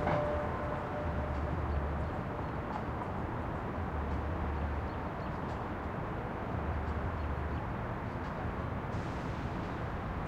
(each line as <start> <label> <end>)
0.0 traffic 10.2